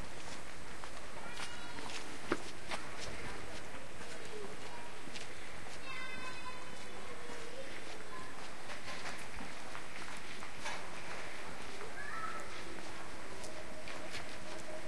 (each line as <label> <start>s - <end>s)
Walking 0.0s - 14.8s
Kids 0.9s - 14.8s